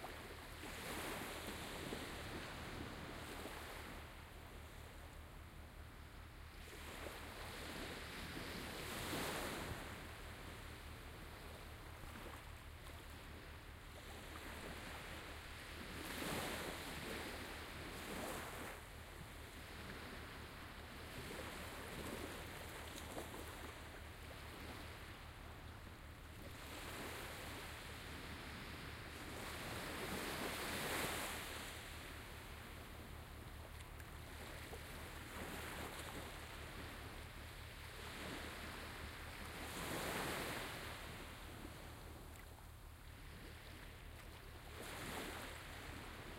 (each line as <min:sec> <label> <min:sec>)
0:00.0 waves 0:46.3